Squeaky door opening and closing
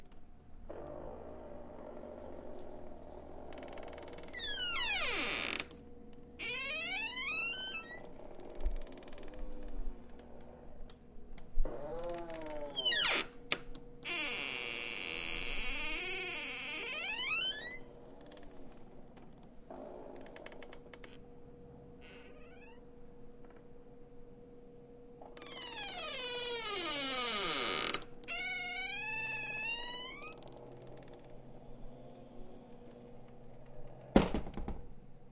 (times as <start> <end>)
3.6 5.7, 6.4 8.2, 11.6 13.4, 14.1 17.9, 22.0 22.8, 25.4 31.1